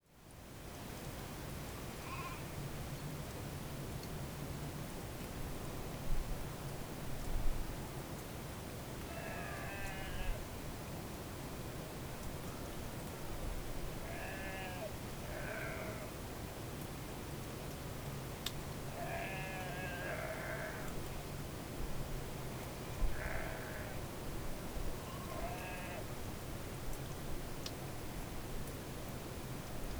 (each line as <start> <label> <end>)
9.0 sheep bleating in the distance 10.5
11.2 occasional raindrop can be heard falling 13.9
14.0 sheep bleating in the distance 16.2
16.6 occasional raindrop can be heard falling 19.8
18.9 sheep bleating in the distance 21.0
20.4 occasional raindrop can be heard falling 23.6
23.0 sheep bleating in the distance 24.1
24.3 occasional raindrop can be heard falling 29.9
25.0 sheep bleating in the distance 26.1